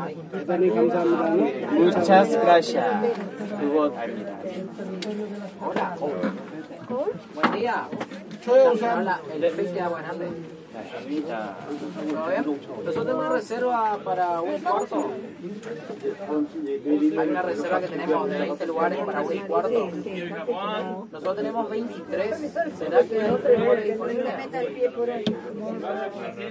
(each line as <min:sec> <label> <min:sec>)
0:00.0 tourists 0:26.5